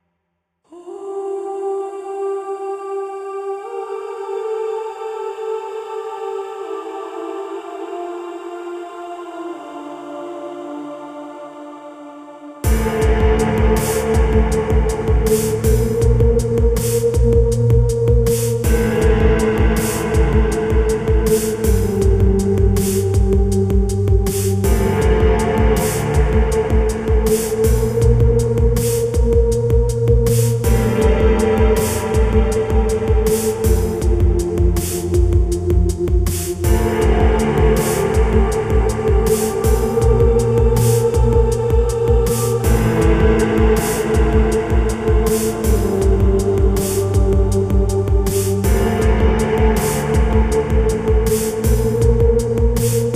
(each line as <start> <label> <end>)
0.7 vocals 53.1
12.6 beat 53.1